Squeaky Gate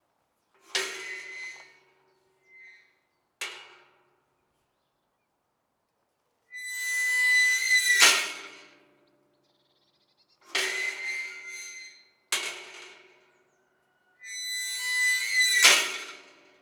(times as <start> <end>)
0.8 3.1, 6.5 8.4, 10.6 12.2, 14.2 16.4